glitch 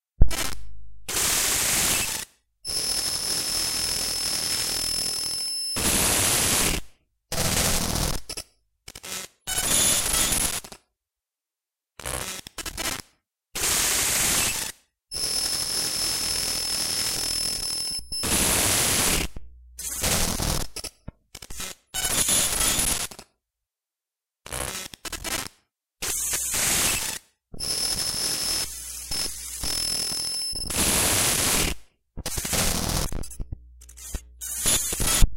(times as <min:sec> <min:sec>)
0:15.2 0:20.7, 0:26.1 0:35.3